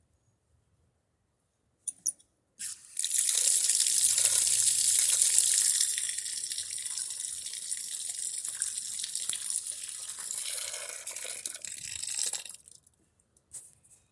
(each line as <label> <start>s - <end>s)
Hose water flowing 2.6s - 12.7s